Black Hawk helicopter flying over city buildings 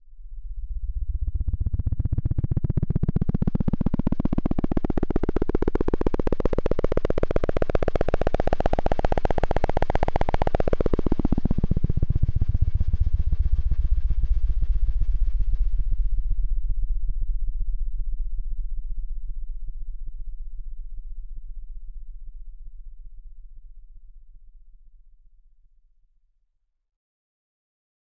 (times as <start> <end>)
0.6 22.6